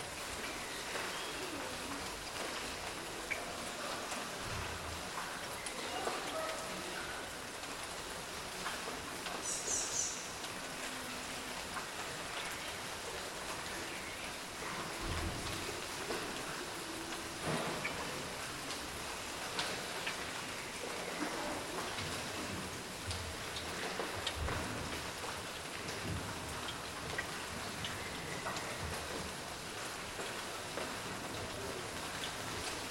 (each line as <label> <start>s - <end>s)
Light July Rain 0.0s - 32.9s
Birds 9.4s - 10.4s